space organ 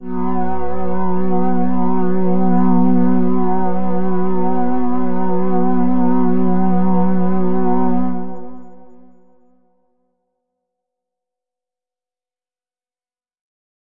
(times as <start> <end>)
0.0 9.2